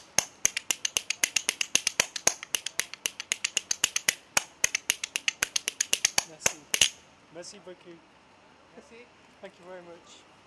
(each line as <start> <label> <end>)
0.0 Spoon Player busking in the street 7.4